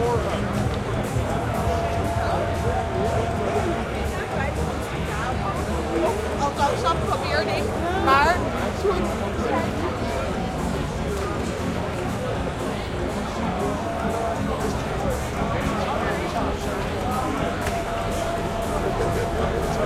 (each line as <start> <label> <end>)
0.0 crowd 19.8
0.0 music 19.8